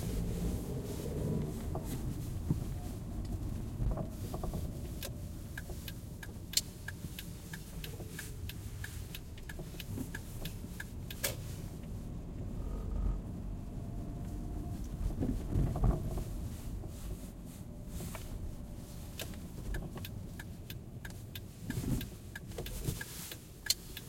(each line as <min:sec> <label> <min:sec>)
0:00.0 Ride in car 0:24.0